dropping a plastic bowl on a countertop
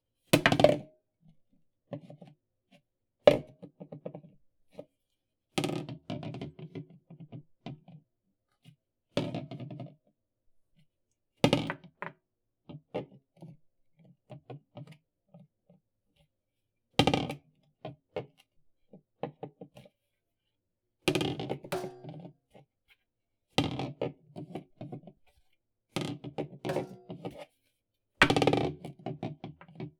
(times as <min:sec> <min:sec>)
0:00.4 0:00.8, 0:21.2 0:22.3, 0:26.7 0:27.4, 0:28.2 0:28.7